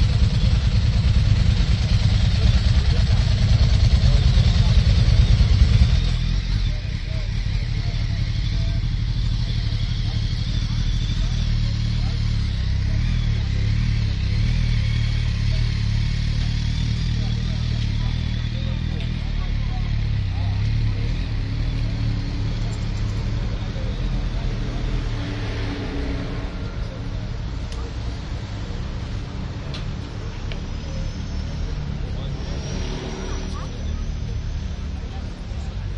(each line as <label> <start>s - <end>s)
motorbikes 0.0s - 35.9s